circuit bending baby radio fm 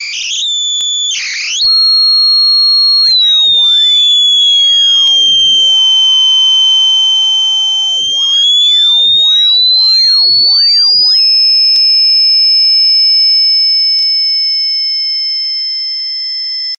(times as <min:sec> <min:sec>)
0:00.0 0:06.0, 0:06.7 0:11.4